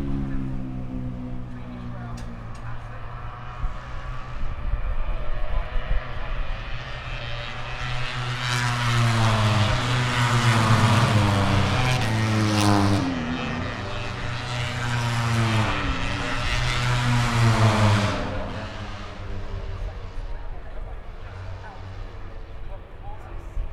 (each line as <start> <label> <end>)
0.0 motorcycle grand prix 23.7